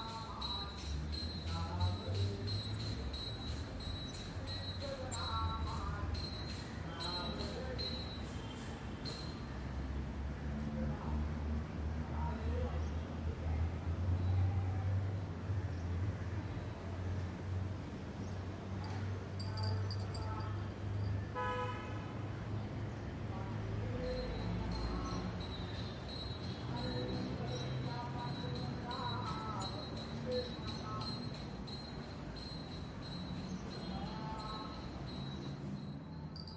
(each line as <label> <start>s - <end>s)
singing an aarti 0.0s - 9.5s
singing an aarti 22.5s - 36.3s